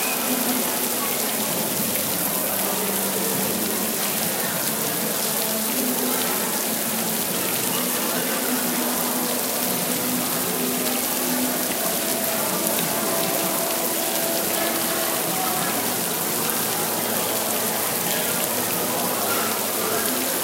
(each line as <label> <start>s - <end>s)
fountain 0.0s - 20.4s
mall ambience 0.0s - 20.4s